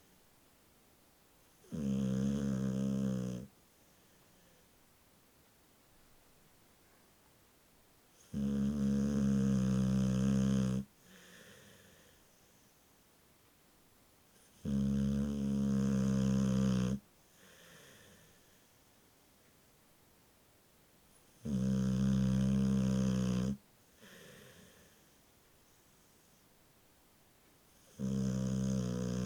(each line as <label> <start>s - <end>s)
Bull mastiff asleep and snoring 1.5s - 3.6s
Bull mastiff asleep and snoring 8.2s - 12.7s
Bull mastiff asleep and snoring 14.4s - 18.6s
Bull mastiff asleep and snoring 21.2s - 25.1s
Bull mastiff asleep and snoring 27.8s - 29.2s